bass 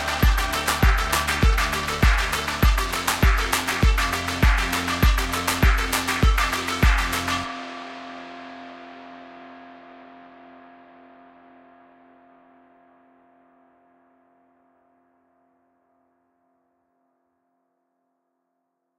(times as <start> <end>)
0.0 8.5